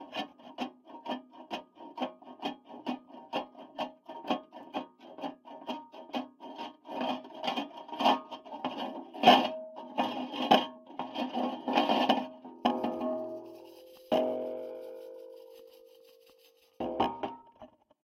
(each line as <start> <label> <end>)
12.4 metal rhythm 17.6